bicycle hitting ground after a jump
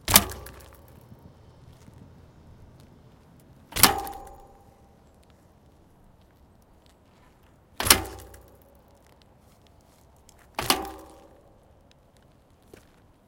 0:00.0 0:01.2, 0:03.7 0:04.8, 0:07.8 0:09.1, 0:10.5 0:11.6

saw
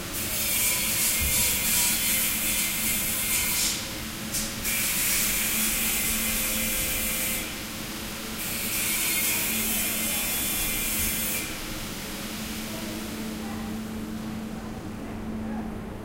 0:00.2 0:03.9, 0:04.6 0:07.5, 0:08.4 0:11.6

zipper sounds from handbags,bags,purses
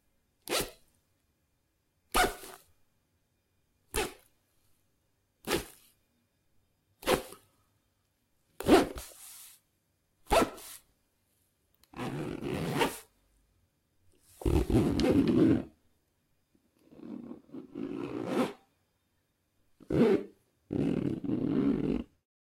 0:00.4 0:00.8, 0:02.1 0:02.7, 0:05.4 0:05.9, 0:07.0 0:07.4, 0:08.6 0:09.6, 0:11.9 0:13.1, 0:14.3 0:15.8, 0:16.8 0:18.6, 0:19.8 0:22.2

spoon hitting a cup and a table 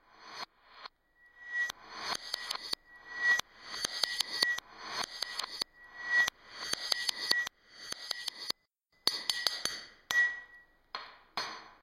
0:06.7 0:11.8

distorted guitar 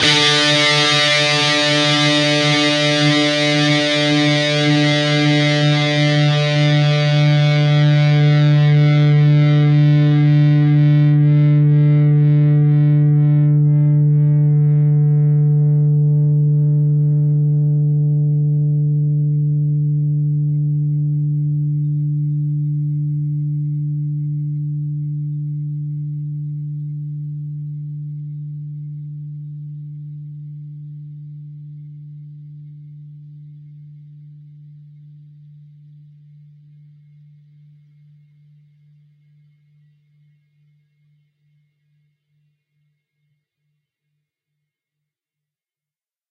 0:00.0 0:36.9

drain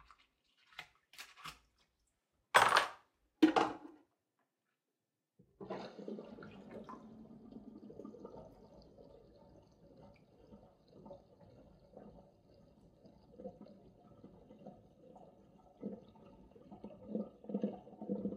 0:05.6 0:18.3

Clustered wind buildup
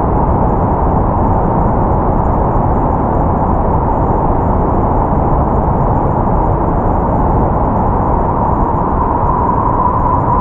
0:04.7 0:10.4

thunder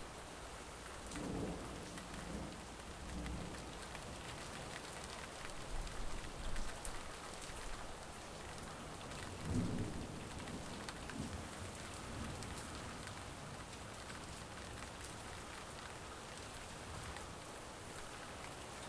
0:09.4 0:11.4

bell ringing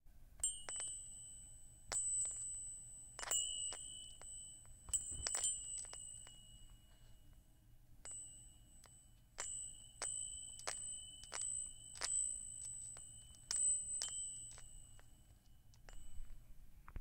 0:05.0 0:07.1

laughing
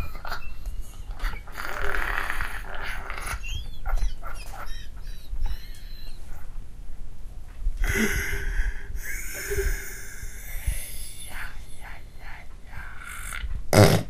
0:00.0 0:06.5, 0:07.9 0:11.9

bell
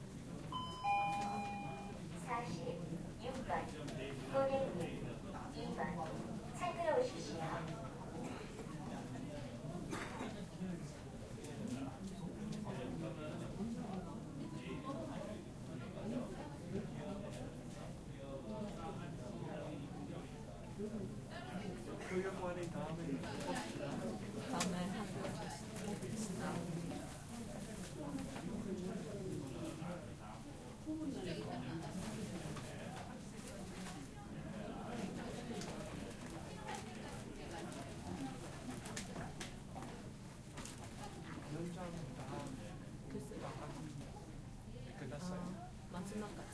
0:00.6 0:02.0

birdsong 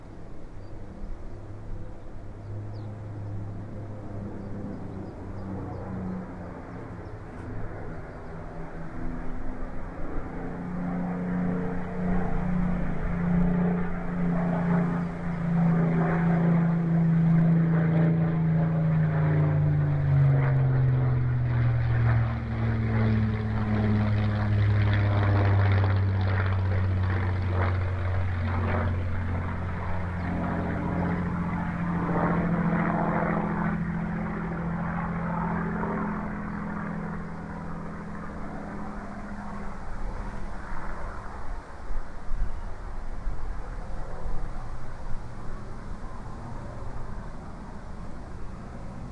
0:00.0 0:08.8, 0:14.2 0:34.4, 0:35.5 0:39.4

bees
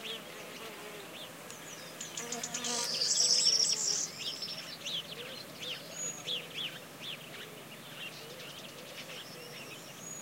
0:00.0 0:01.4, 0:02.0 0:04.1

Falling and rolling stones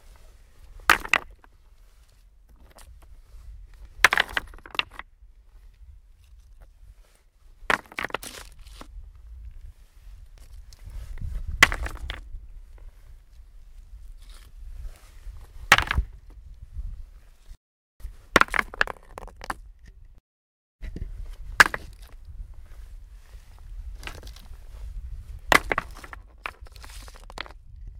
0:00.6 0:01.6, 0:03.8 0:05.1, 0:07.6 0:08.9, 0:10.4 0:12.4, 0:15.4 0:16.4, 0:18.0 0:20.0, 0:21.4 0:22.3, 0:23.9 0:27.9

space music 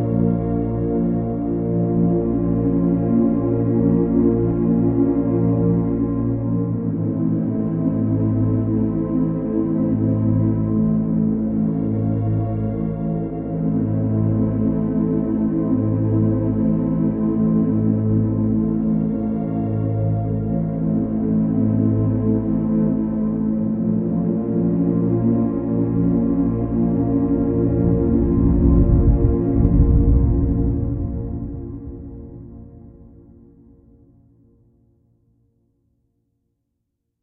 0:25.3 0:34.1

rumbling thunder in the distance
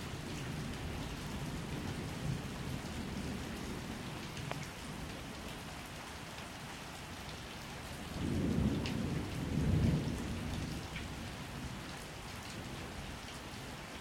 0:08.1 0:11.2

